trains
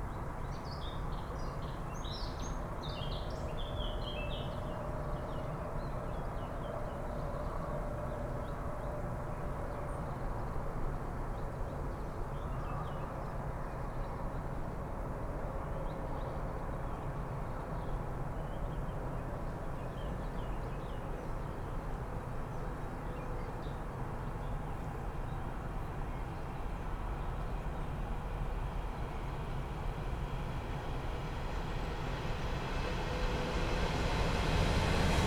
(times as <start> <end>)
14.3 35.2